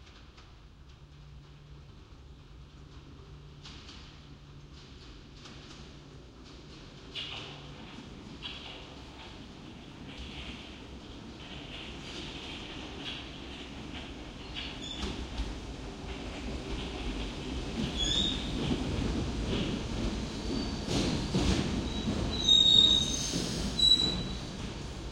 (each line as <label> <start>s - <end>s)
passes from left to right of underground trains 0.0s - 25.1s